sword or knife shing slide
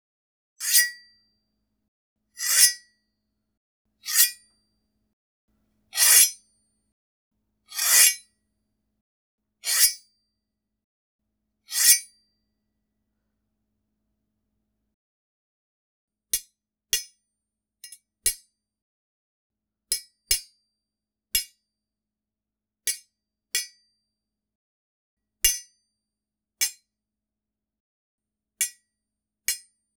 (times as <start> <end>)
0.6 1.0, 2.4 2.8, 6.0 6.4, 7.8 8.2